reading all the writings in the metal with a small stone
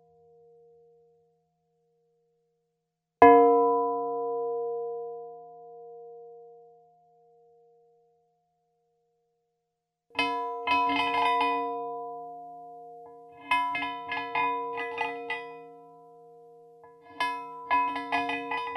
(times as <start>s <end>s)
10.2s 11.8s, 12.6s 18.7s